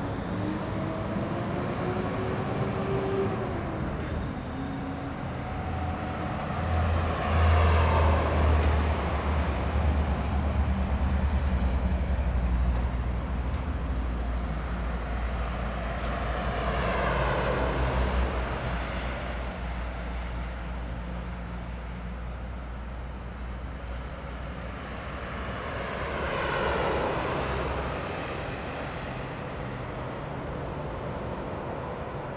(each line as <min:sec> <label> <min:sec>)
0:00.0 Traffic sound 0:32.3